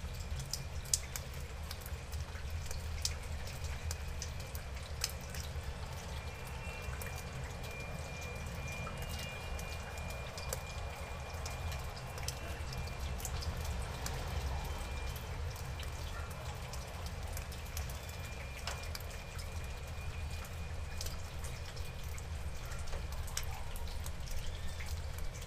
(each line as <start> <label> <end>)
0.0 drips and drops everywhere 25.4
0.0 rain was falling 25.4
22.5 very weird-sounding dogs barking 24.1